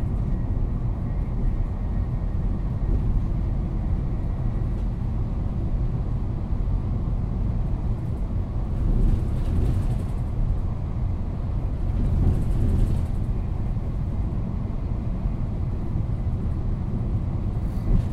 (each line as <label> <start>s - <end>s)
tunnel is passed through 0.0s - 18.1s
usual noises of the wagon 8.0s - 10.6s
usual noises of the wagon 11.7s - 14.2s